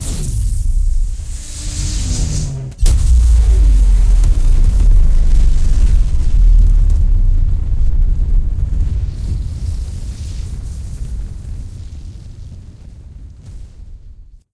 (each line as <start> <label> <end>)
0.0 Huge rocket motor startup 8.9